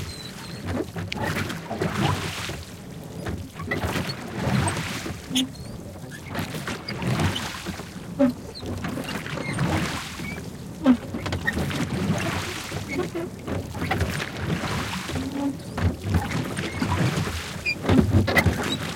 fast rowing 0.0 - 18.9

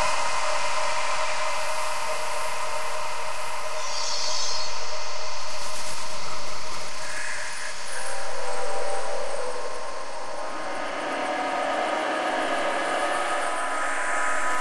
Drone 7.0 - 14.6

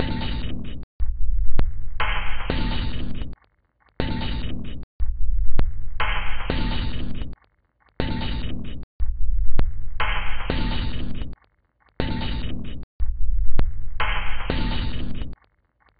Drum 0.0 - 3.4
Drum 4.0 - 7.4
Drum 8.0 - 11.4
Drum 12.0 - 15.4

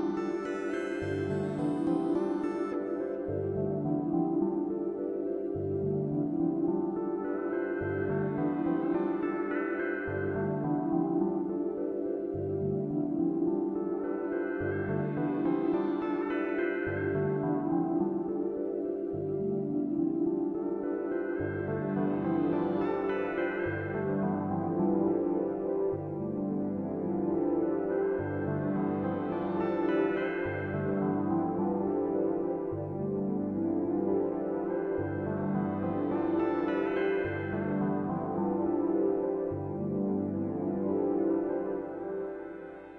synth 0.0 - 42.9

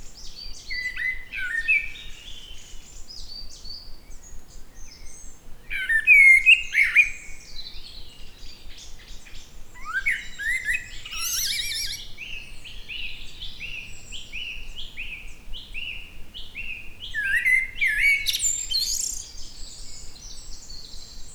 Unidentified bird 9.8 - 12.2
Unidentified bird 17.1 - 20.0

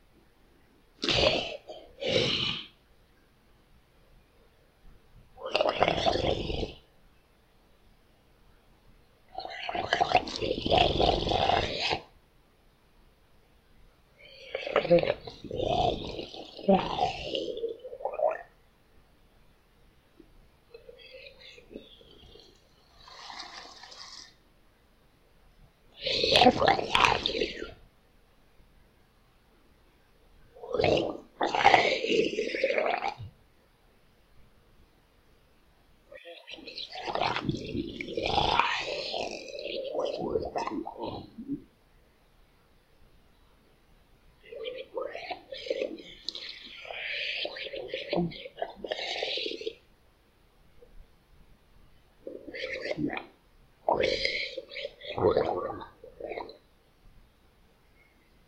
Alien-Monster Vocal Sounds 1.0 - 2.8
Alien-Monster Vocal Sounds 5.4 - 6.9
Alien-Monster Vocal Sounds 9.3 - 12.1
Alien-Monster Vocal Sounds 14.2 - 18.6
Alien-Monster Vocal Sounds 20.7 - 24.4
Alien-Monster Vocal Sounds 26.0 - 27.8
Alien-Monster Vocal Sounds 30.6 - 33.3
Alien-Monster Vocal Sounds 36.1 - 41.7
Alien-Monster Vocal Sounds 44.4 - 49.8
Alien-Monster Vocal Sounds 52.2 - 56.6

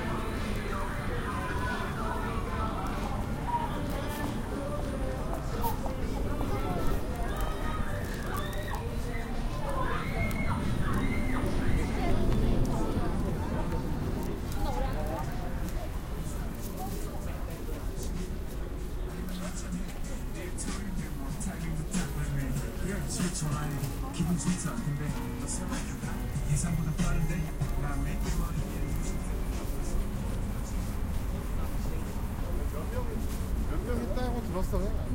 Music in the street 0.0 - 35.1
Traffic 0.0 - 35.1
people walking and talking 0.0 - 35.1

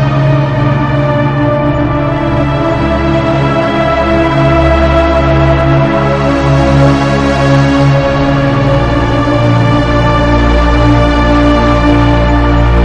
ancient music 0.0 - 6.3
ancient music 7.8 - 12.8

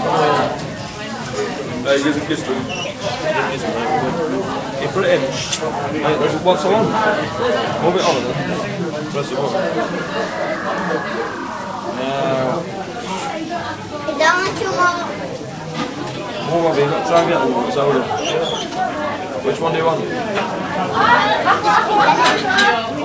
chat 6.8 - 13.6

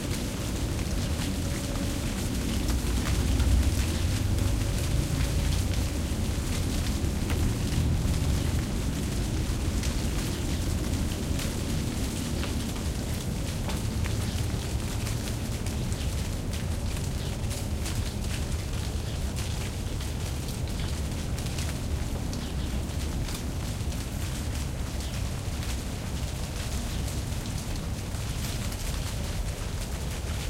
green leaves falling off a tree 0.0 - 30.4

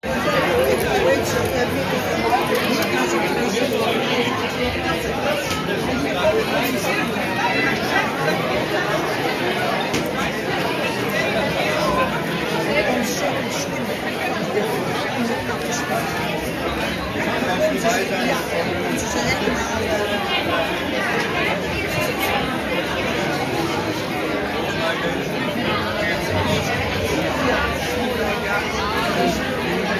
Dutch crowd 0.0 - 29.9

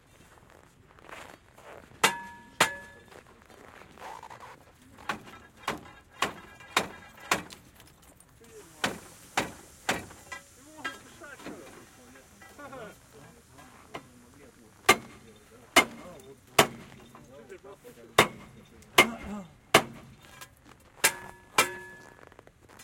man is breaking the ice on the wheels 2.0 - 3.2
man is breaking the ice on the wheels 5.0 - 11.8
man is breaking the ice on the wheels 14.9 - 17.3
man is breaking the ice on the wheels 18.2 - 22.2

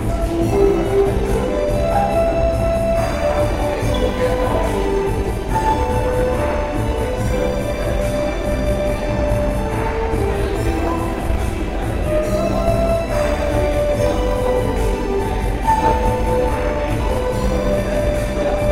announcement 0.0 - 18.7
traditional performer playing 0.0 - 18.7

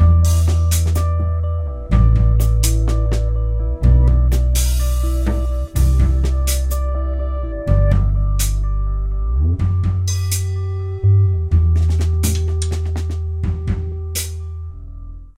percussion 0.0 - 1.2
guitar 0.0 - 15.3
percussion 1.9 - 3.4
percussion 4.3 - 6.8
percussion 11.7 - 14.4

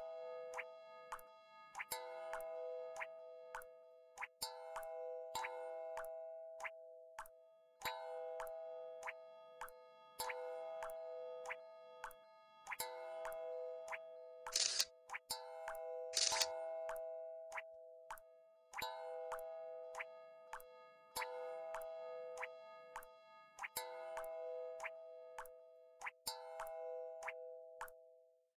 sounds made by iron or steel objects 14.6 - 14.9
sounds made by iron or steel objects 16.2 - 16.5

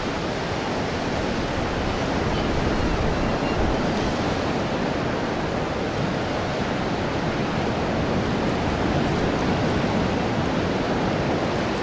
waves of incoming tide 0.0 - 11.8

